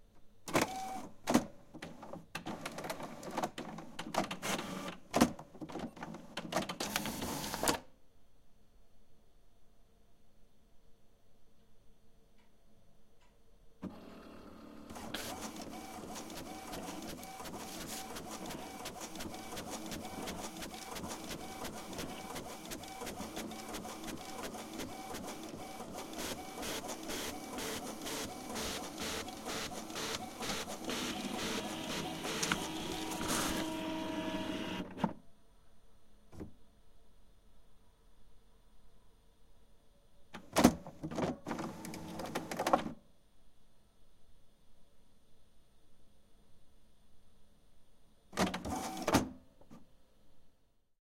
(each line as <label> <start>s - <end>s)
printer prints 0.5s - 7.8s
printer prints 13.8s - 35.2s
printer prints 40.4s - 42.9s
printer prints 48.4s - 49.3s